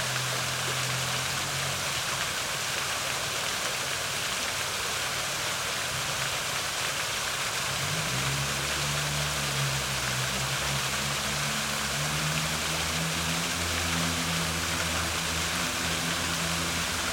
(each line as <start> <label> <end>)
0.0 Fountain 17.1